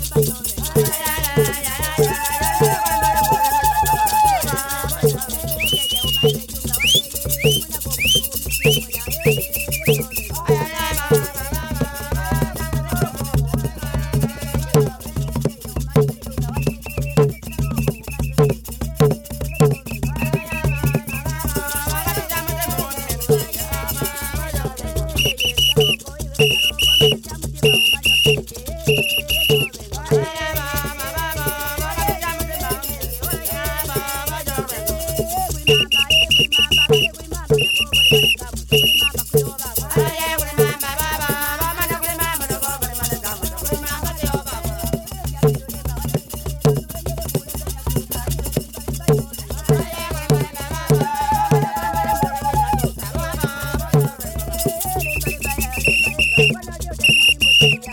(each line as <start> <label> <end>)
0.0 dancing 13.2
0.0 drumming 57.9
0.0 joyful singing 57.9
20.2 dancing 44.7
49.1 dancing 57.9